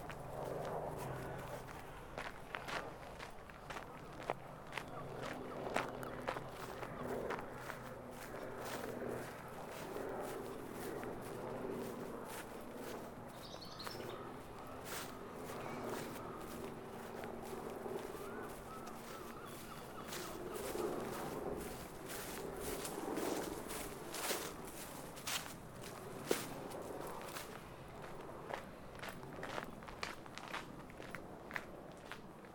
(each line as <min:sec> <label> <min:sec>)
0:00.0 walking 0:32.3
0:00.0 light aircraft 0:32.5
0:12.3 birds 0:17.1
0:17.9 birds 0:24.5